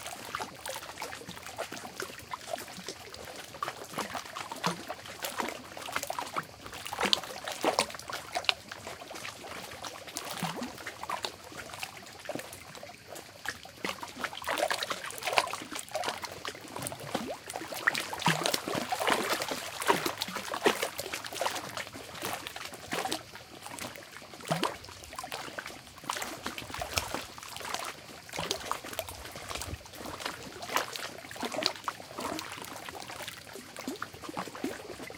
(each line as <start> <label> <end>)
0.0 very distant crickets 35.1